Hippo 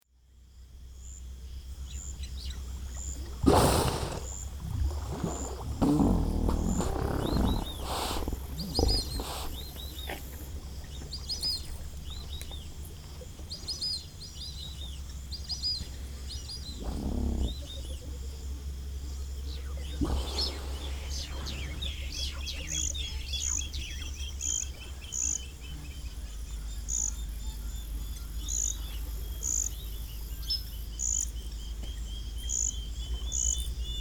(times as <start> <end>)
3.2 11.8, 19.3 26.5